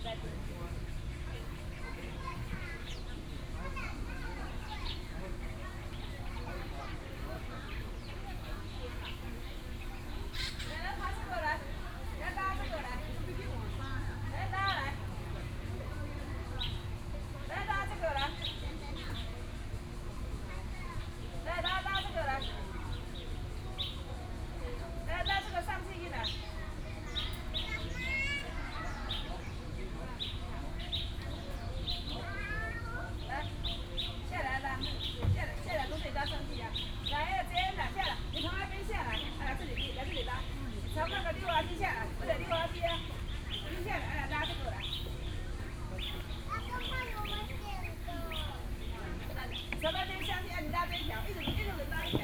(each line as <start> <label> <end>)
27.7 Child 29.1
32.2 Child 33.2
46.5 Child 48.6